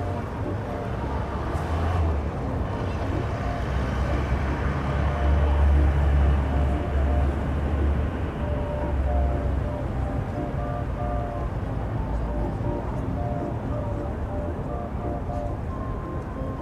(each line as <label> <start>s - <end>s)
Carillion 0.0s - 16.6s